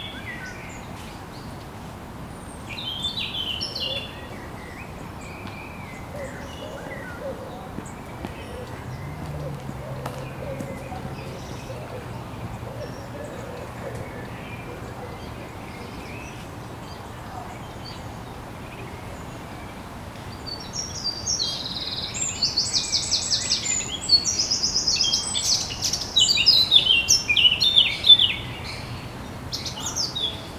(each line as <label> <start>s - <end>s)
birds 0.0s - 30.5s
city 0.0s - 30.5s
road 0.0s - 30.5s
walker 5.4s - 18.0s